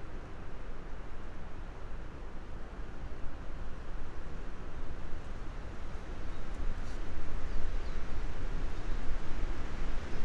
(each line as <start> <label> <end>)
0.0 windy day 10.2